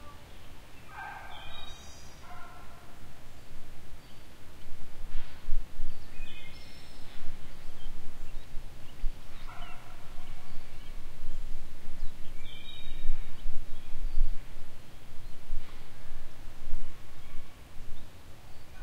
0.0s birdsong 18.8s

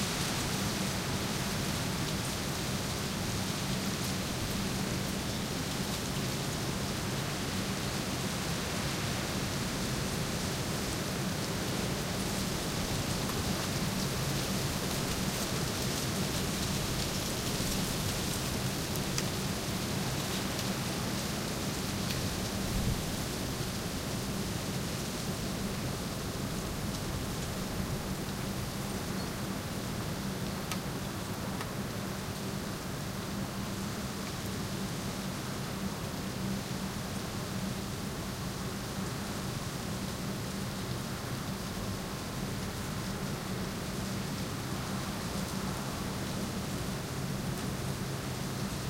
0.0s noise of the trees and dry branches 48.8s

